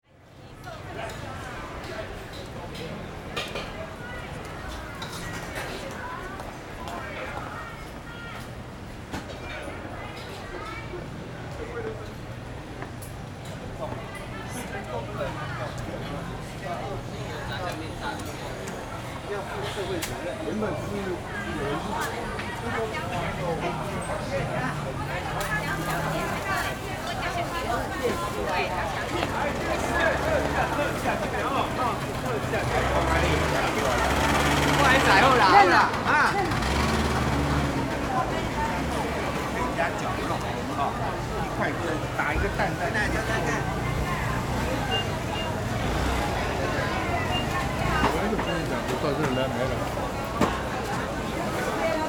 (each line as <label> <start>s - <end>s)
Walking in the traditional market 0.0s - 52.0s
Traffic Sound 0.6s - 52.0s